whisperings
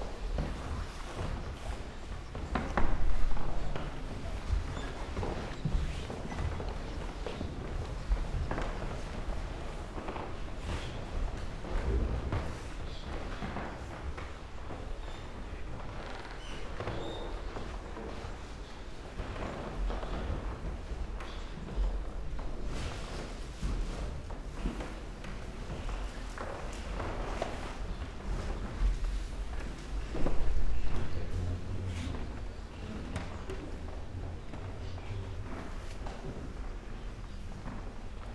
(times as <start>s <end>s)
30.7s 35.8s